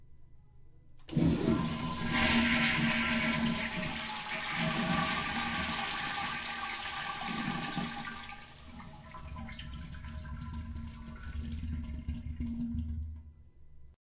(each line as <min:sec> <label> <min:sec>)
0:01.1 toilet flushing with the lid closed 0:13.3